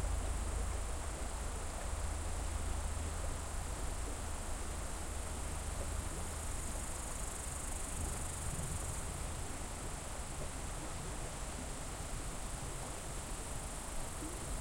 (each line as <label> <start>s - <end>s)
river 0.0s - 14.6s
crickets 0.0s - 14.6s